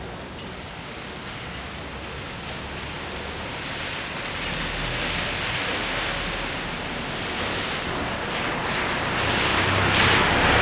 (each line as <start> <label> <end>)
0.0 rain falling slowly 10.6
4.5 passing car 10.6